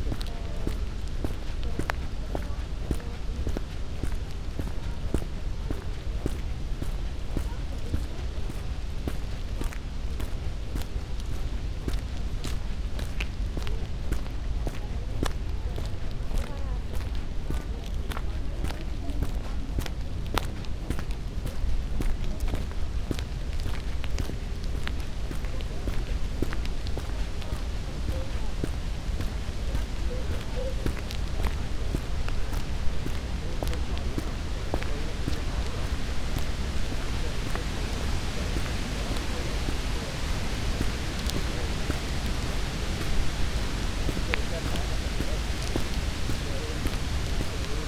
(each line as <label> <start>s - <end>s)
sounds of cement factory slowly appear 0.0s - 47.8s
walking 0.0s - 47.8s